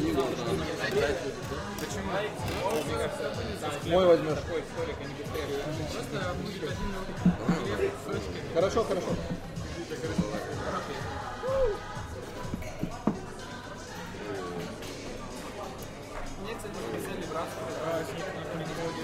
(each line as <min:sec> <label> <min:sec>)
0:00.0 background music 0:19.0